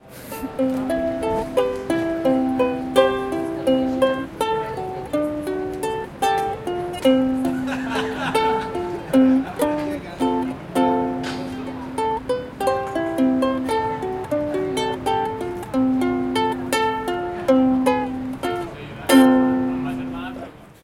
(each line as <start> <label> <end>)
0.0 guy playing Ukulele 20.8
7.5 laughter 9.6